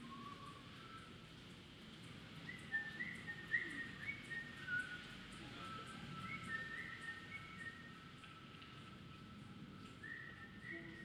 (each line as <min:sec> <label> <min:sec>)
0:08.1 light rain 0:10.1